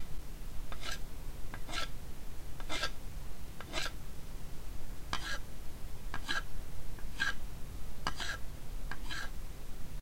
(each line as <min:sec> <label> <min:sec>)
0:00.7 knife gently carving a small wooden log 0:01.0
0:01.6 knife gently carving a small wooden log 0:01.9
0:02.6 knife gently carving a small wooden log 0:03.0
0:03.6 knife gently carving a small wooden log 0:04.0
0:05.2 knife gently carving a small wooden log 0:05.4
0:06.1 knife gently carving a small wooden log 0:07.4
0:08.0 knife gently carving a small wooden log 0:09.3